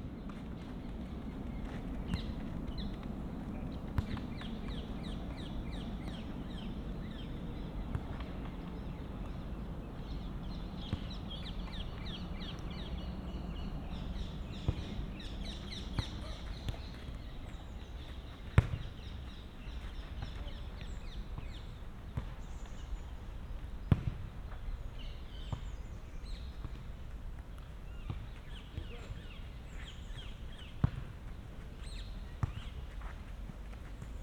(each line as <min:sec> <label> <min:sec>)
0:00.0 Wind 0:34.2